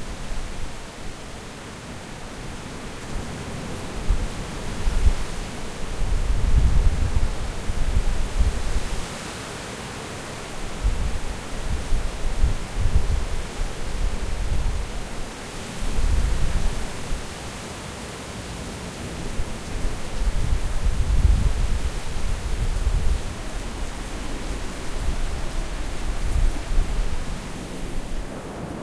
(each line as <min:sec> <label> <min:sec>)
0:00.0 Torrential rain 0:28.8
0:00.0 wind 0:28.8
0:28.2 thunder from sheet lightning 0:28.8